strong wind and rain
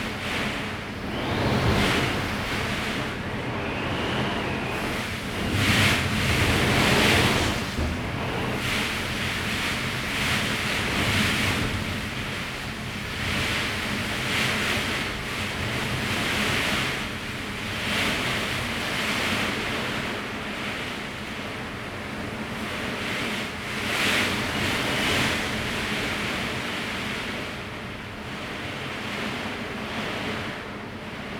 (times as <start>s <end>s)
0.0s 20.1s